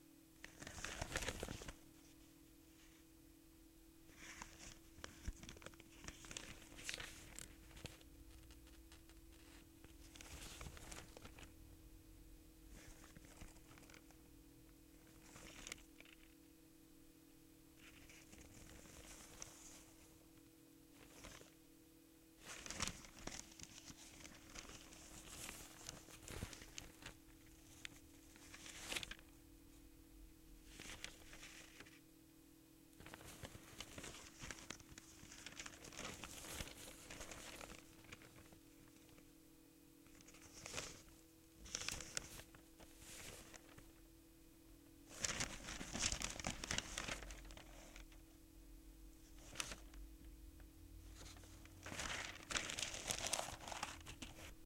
opening, turning and folding newsprint 0.4 - 1.8
opening, turning and folding newsprint 4.1 - 11.5
opening, turning and folding newsprint 15.0 - 16.4
opening, turning and folding newsprint 22.4 - 29.3
opening, turning and folding newsprint 30.7 - 32.0
opening, turning and folding newsprint 33.0 - 39.2
opening, turning and folding newsprint 40.1 - 43.9
opening, turning and folding newsprint 45.1 - 48.2
opening, turning and folding newsprint 51.1 - 54.6

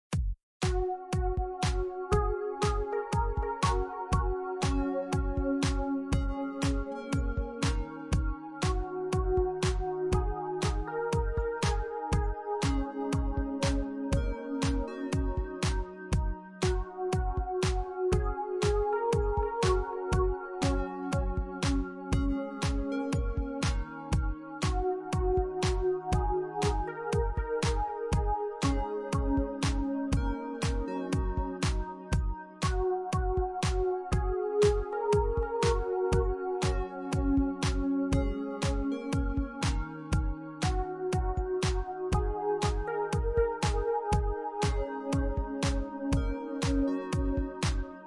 beats 0.1 - 47.9

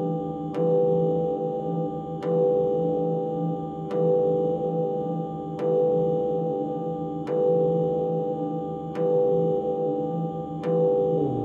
drone 11.0 - 11.4

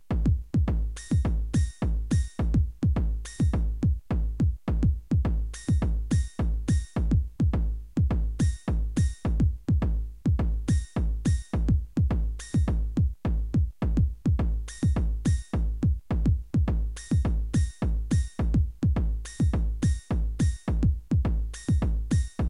hammhocked bass 0.0 - 22.4
beats 0.0 - 22.4

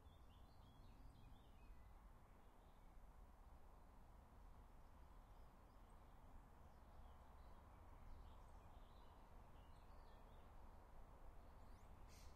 birds 11.6 - 12.3

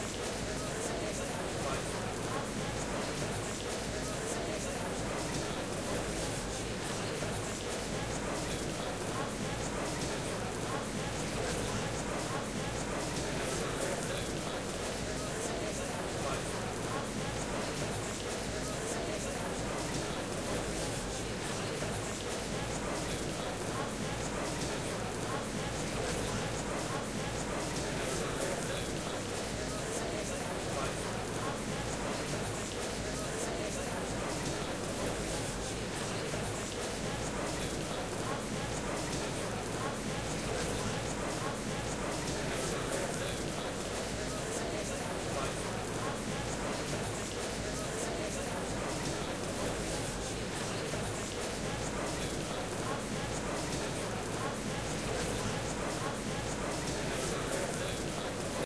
crowd 0.0 - 58.6

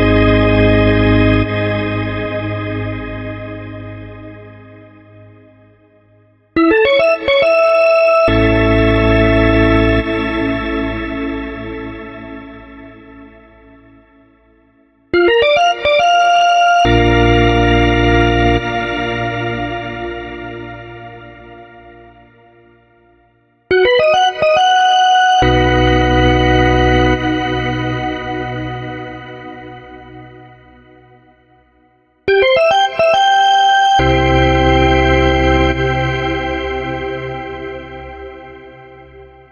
standard drawbar organ 0.0 - 5.1

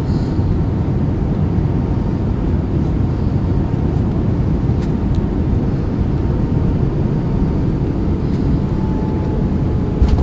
Plane (Tap Portugal) Landing 6.1 - 10.2

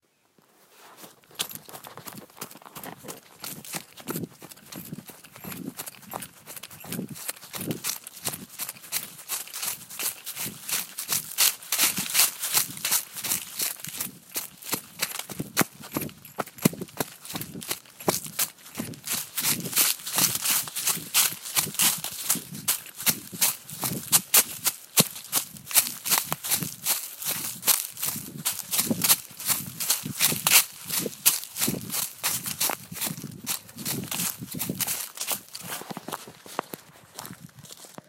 Running In Woods 0.1 - 38.0
leaves 8.6 - 14.5

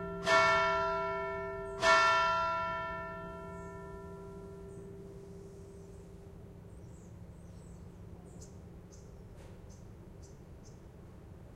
church bell ringing 0.0 - 6.6

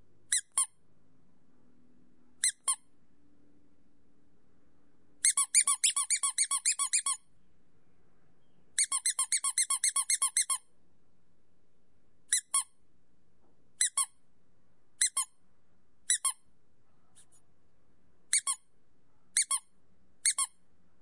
rubber squeaky toy being squeezed 0.3 - 0.8
rubber squeaky toy being squeezed 2.4 - 2.9
rubber squeaky toy being squeezed 5.2 - 7.3
rubber squeaky toy being squeezed 8.8 - 10.7
rubber squeaky toy being squeezed 12.3 - 12.8
rubber squeaky toy being squeezed 13.8 - 14.2
rubber squeaky toy being squeezed 15.0 - 15.4
rubber squeaky toy being squeezed 16.0 - 16.5
rubber squeaky toy being squeezed 18.3 - 18.7
rubber squeaky toy being squeezed 19.4 - 20.6

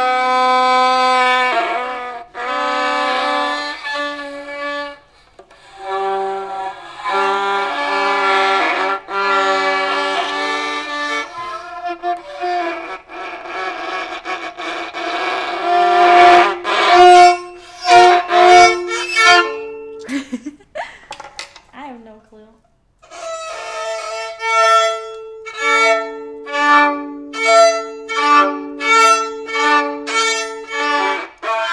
torturing a violin 0.0 - 20.0
torturing a violin 23.0 - 31.7

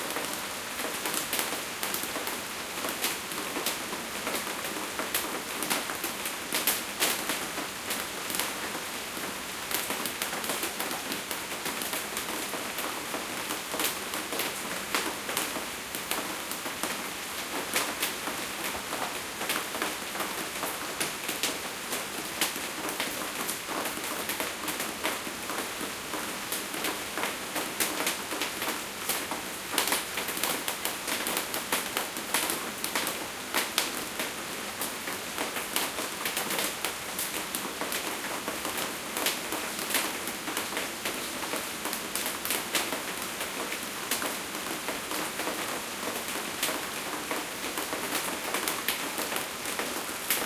Rain On Fiber Roof 0.0 - 50.4

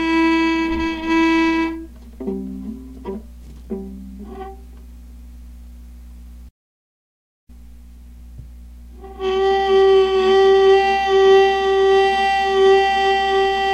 playing on a viola softly 0.0 - 4.9
playing on a viola softly 8.9 - 13.7

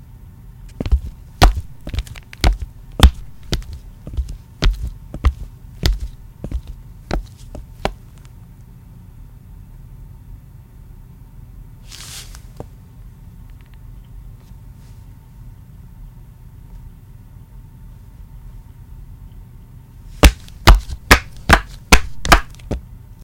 walking footsteps flat shoes tile floor 0.7 - 8.0
walking footsteps flat shoes tile floor 20.2 - 22.8

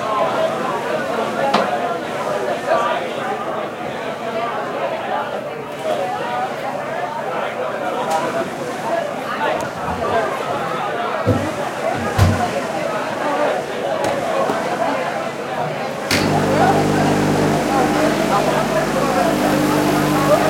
voice of people 0.0 - 20.4
Waves 5.6 - 20.4
making coffee 16.1 - 20.4

